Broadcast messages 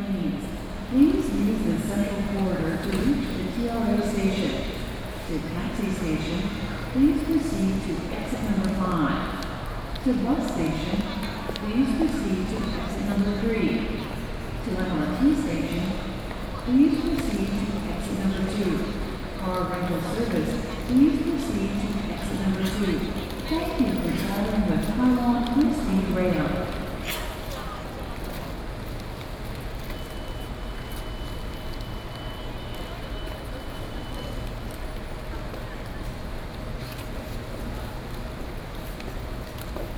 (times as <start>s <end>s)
10.0s 26.8s